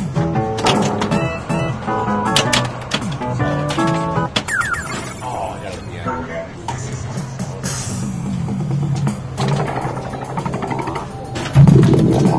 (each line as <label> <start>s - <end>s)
pinball sounds 0.2s - 6.9s
voices in the background 5.2s - 8.3s
pinball sounds 8.7s - 12.3s